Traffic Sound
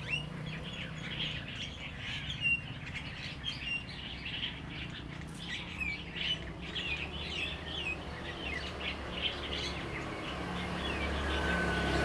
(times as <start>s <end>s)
8.1s 12.0s